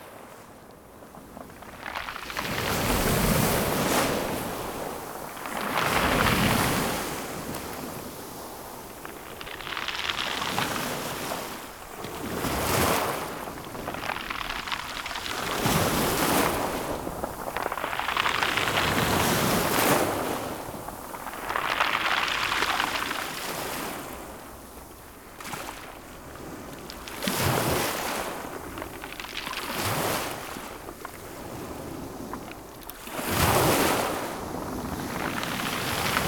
1.1s Waves breaking onto the beach 36.2s

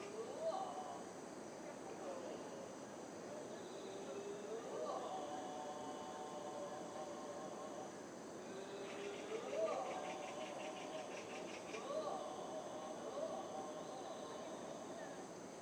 3.5s monks practising scriptures 15.2s

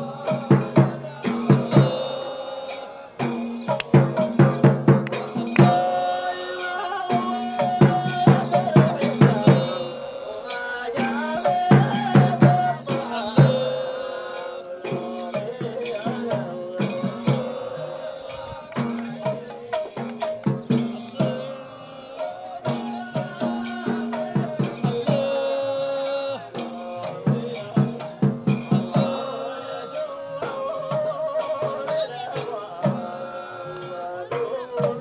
0.0s Dikhr in full swing 35.0s

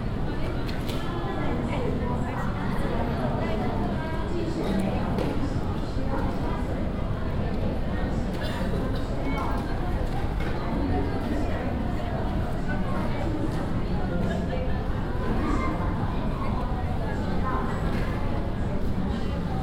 0.0s passengers waiting for their suitcases 19.6s

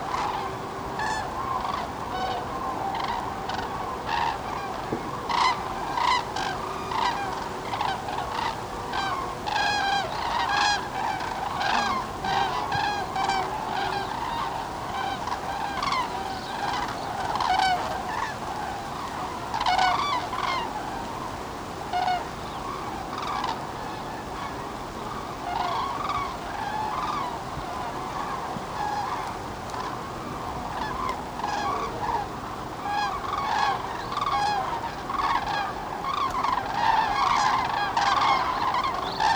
0.0s yellowing poplar leaves were hissing in the wind 39.3s
8.2s human birdwatchers turn up to see them, chatting to each other 21.0s

